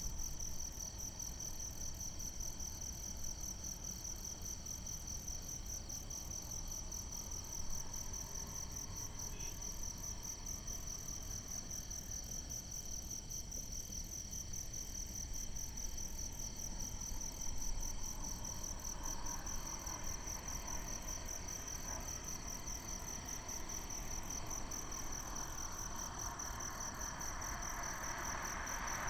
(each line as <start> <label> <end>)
0.0 Insects sound 29.0
18.7 Traffic sound 29.0